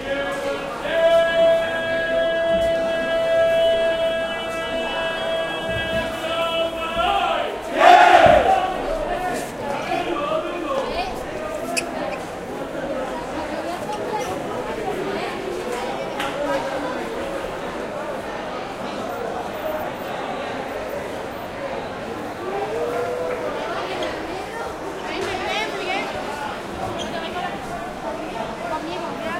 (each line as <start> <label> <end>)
7.1 shouts 8.8